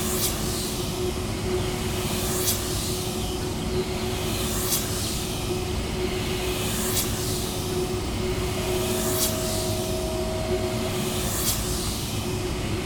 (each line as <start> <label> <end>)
0.0 Wind turbine 12.8